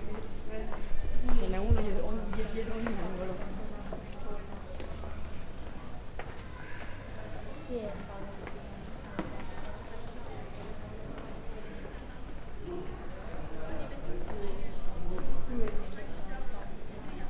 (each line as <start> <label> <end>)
0.0 people walking 17.2